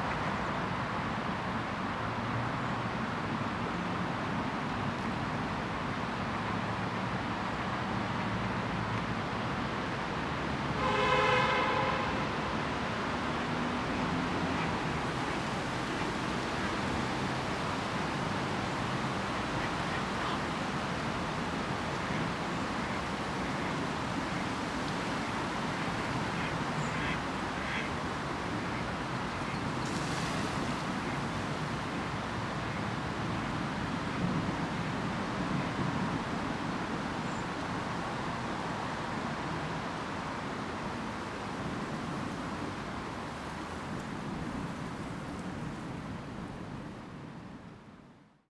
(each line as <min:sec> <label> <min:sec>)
0:25.7 Ducks 0:28.0